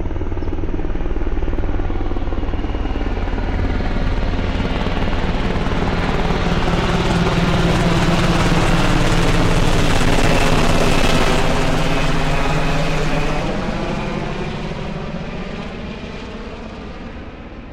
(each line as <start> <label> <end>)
0.0 very close flyby of a Blackhawk Helicopter 17.7